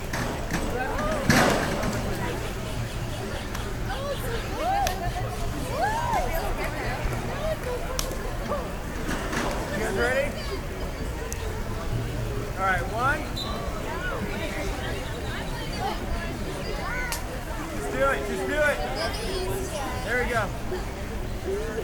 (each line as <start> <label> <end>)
0.0 diving board 7.6
0.0 distant drumming 7.8
0.0 Carefree people 21.8